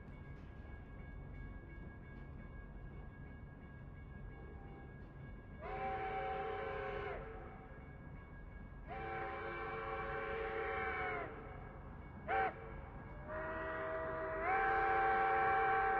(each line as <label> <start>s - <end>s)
Crossing bells 0.0s - 15.9s
Steam Train Leaving Station 0.0s - 15.9s
people watching the train 0.0s - 15.9s